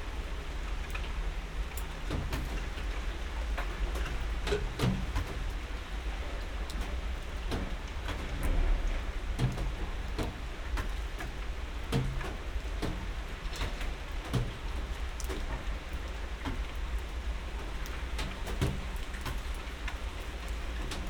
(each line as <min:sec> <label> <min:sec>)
0:00.0 rain 0:21.0